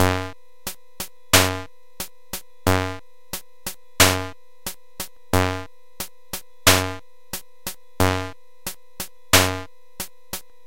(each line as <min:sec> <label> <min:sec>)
0:00.0 drums 0:10.5